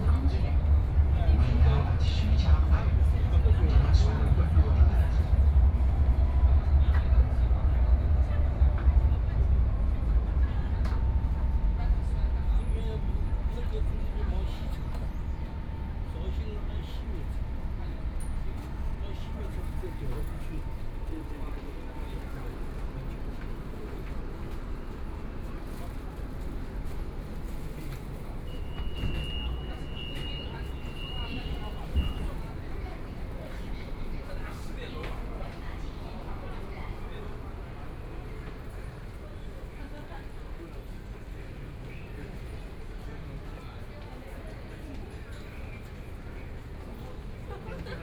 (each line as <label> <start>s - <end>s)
Walking through the subway station 0.0s - 48.0s